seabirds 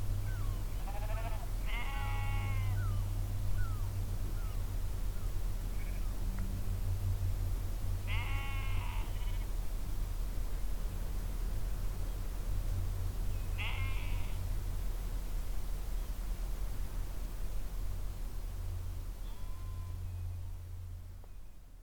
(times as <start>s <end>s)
0.2s 6.2s